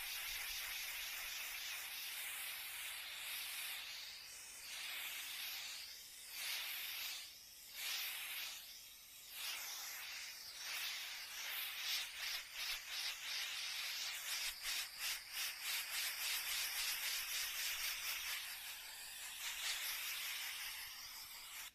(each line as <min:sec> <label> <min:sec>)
0:00.0 buzz 0:01.6